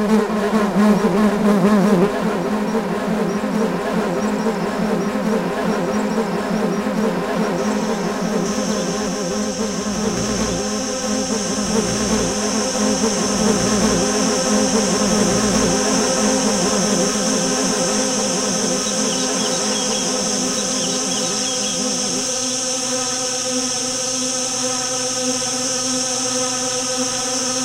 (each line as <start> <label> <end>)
0.0 bees 27.6
0.0 insect sounds 27.6